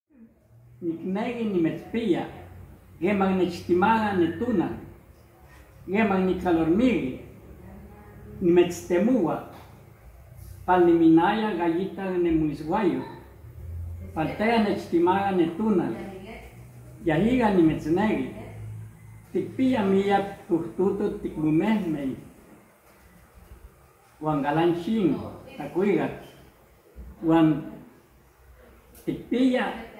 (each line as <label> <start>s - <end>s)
poet reciting both in nahuat and Spanish 0.8s - 26.3s